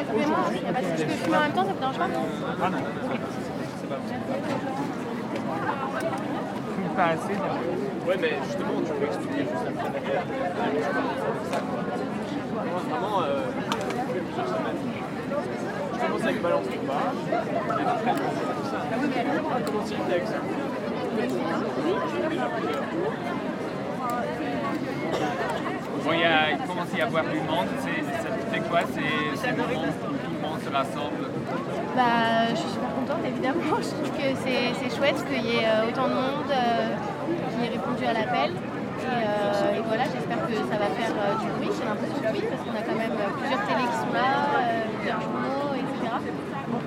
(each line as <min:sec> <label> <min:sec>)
0:00.0 journalists making interviews of participants 0:46.8